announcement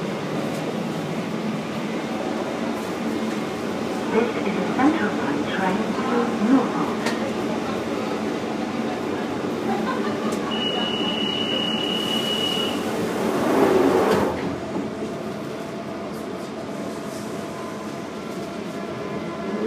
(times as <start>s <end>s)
4.0s 7.0s